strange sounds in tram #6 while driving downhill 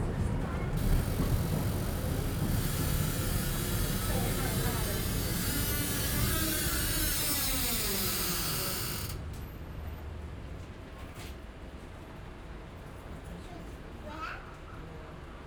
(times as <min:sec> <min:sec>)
0:00.0 0:10.9